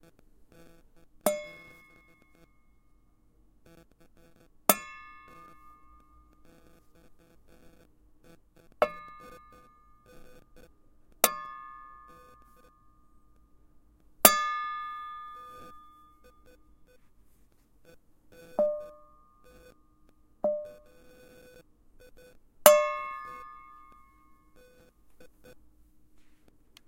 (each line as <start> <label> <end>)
1.3 Iron Box Hit 2.0
4.7 Iron Box Hit 5.8
8.8 Iron Box Hit 9.6
11.2 Iron Box Hit 12.2
14.2 Iron Box Hit 16.0
22.7 Iron Box Hit 24.0